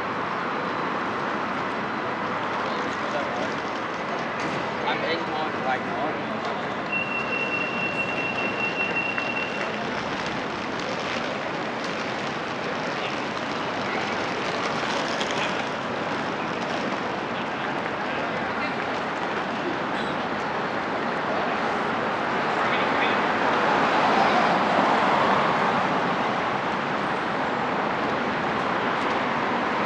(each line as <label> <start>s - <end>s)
traffic either from pedestrians or vehicles 0.0s - 29.8s
people walking through with their luggage’s 6.3s - 22.1s